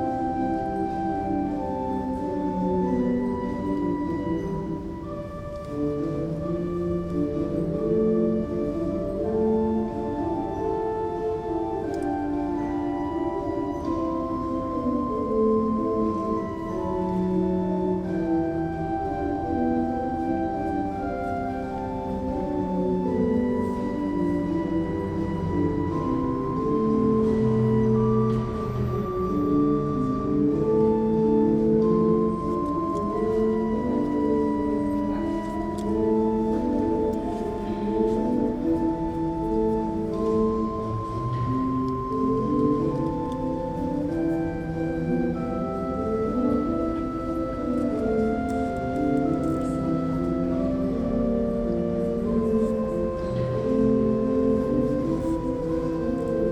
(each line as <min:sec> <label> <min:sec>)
0:00.0 Organ 0:56.5